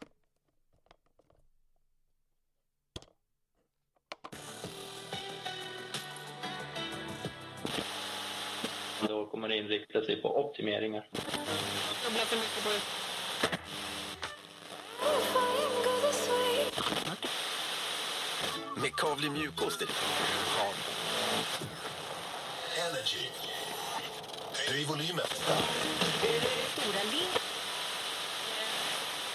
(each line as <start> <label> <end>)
4.2 turning the radio on and off 6.0
4.4 static 5.4
7.6 turning the radio on and off 9.1
7.6 static 9.1
11.1 static 29.3
11.1 turning the radio on and off 29.3